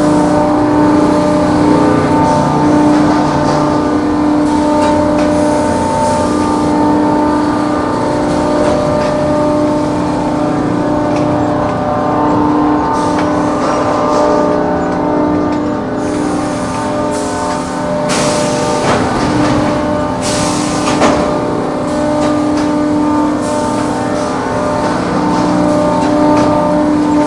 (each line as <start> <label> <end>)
0.0 mill noise 27.2